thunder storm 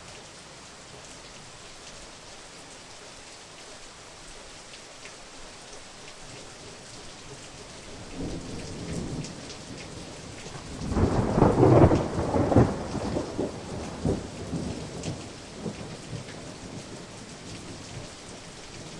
8.2s 17.2s

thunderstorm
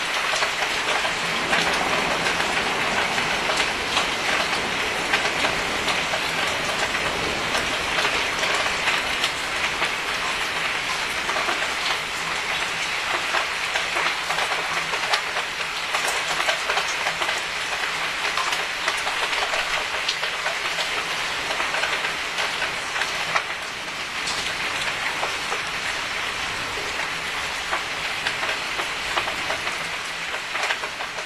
0.0s 12.6s

